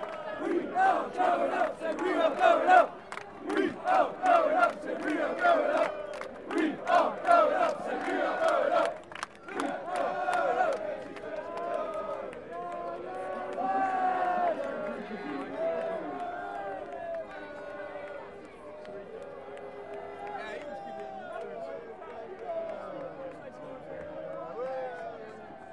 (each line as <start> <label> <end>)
0.0 Fans chanting and singing 25.7